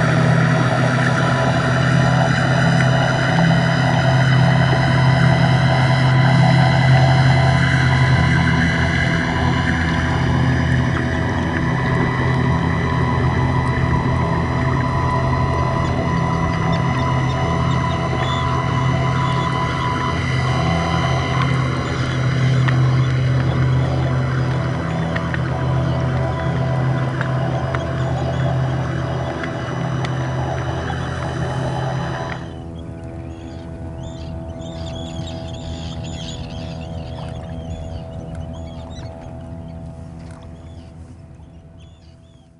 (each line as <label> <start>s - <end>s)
Birds 0.0s - 42.5s
Propellers 0.0s - 42.5s